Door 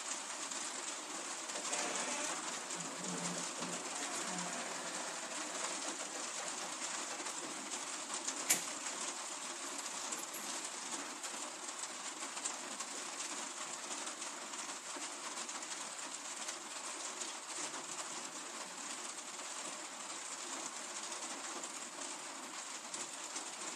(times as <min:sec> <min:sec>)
0:08.5 0:08.7